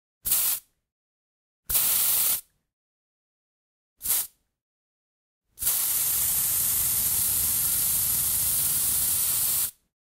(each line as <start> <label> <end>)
0.3 deodorant sprays 0.6
1.7 deodorant sprays 2.4
4.0 deodorant sprays 4.3
5.6 deodorant sprays 9.8